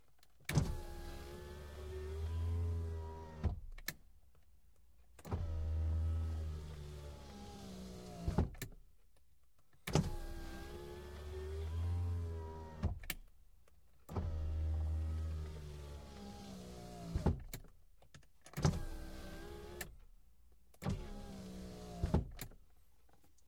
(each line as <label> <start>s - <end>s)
driver's side window being opened and closed 0.5s - 4.0s
driver's side window being opened and closed 5.2s - 8.8s
driver's side window being opened and closed 9.8s - 13.2s
driver's side window being opened and closed 14.1s - 17.7s
driver's side window being opened and closed 18.5s - 20.0s
driver's side window being opened and closed 20.8s - 22.6s